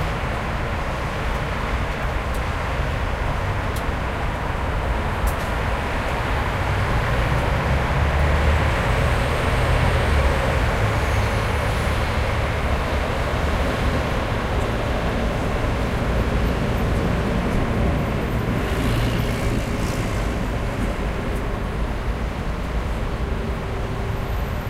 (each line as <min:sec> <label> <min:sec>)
0:00.0 street traffic 0:24.6